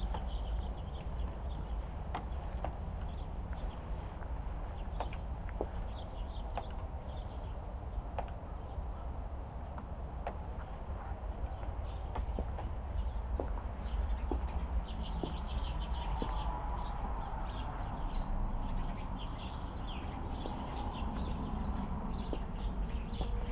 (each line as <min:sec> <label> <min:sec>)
0:00.0 birds 0:23.5